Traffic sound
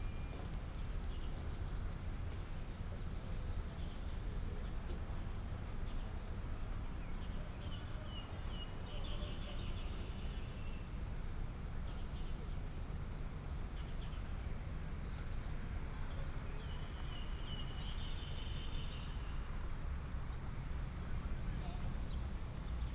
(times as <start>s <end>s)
14.6s 22.9s